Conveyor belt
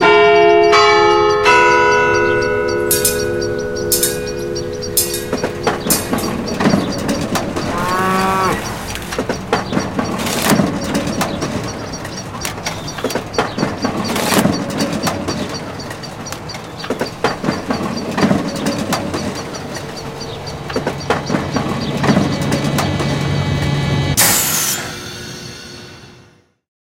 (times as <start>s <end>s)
8.6s 26.3s